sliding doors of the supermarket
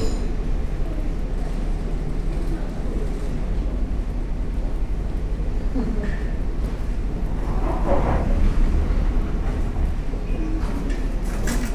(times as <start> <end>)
6.3 11.7